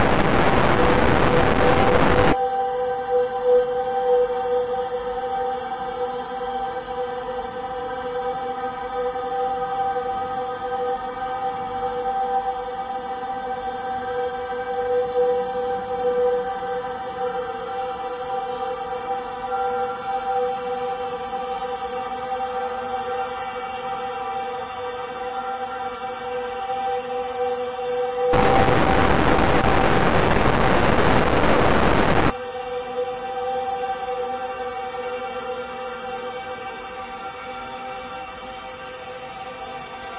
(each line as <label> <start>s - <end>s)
heavily reverberated distortion 0.0s - 2.4s
slowly evolving dreamy ambient drone pad 0.0s - 40.1s
heavily reverberated distortion 28.3s - 32.4s